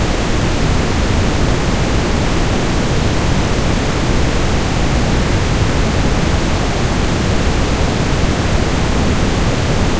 loud and big waterfall 0:00.0 - 0:09.9

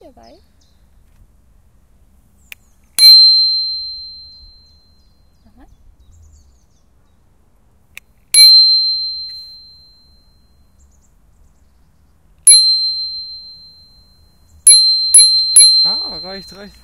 Bycicle Bell 0:03.0 - 0:05.1
Bycicle Bell 0:08.4 - 0:10.6
Bycicle Bell 0:12.5 - 0:16.8

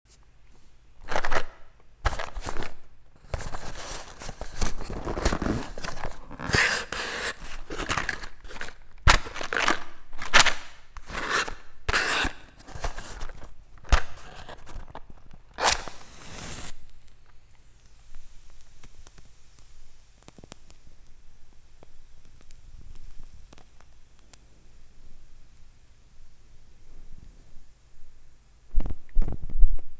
lighting a candle 0:01.1 - 0:28.1
lighting a wooden match 0:02.1 - 0:21.2

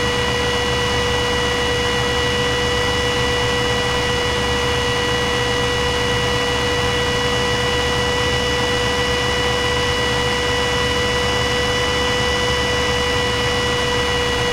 CPU Fan 0:00.0 - 0:14.5

